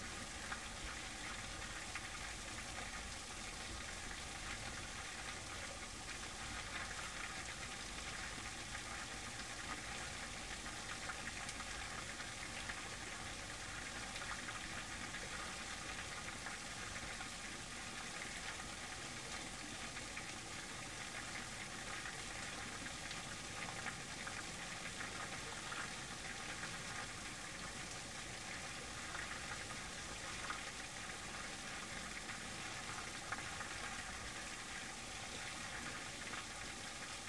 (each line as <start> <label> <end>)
0.0 falling water in a small dam 37.2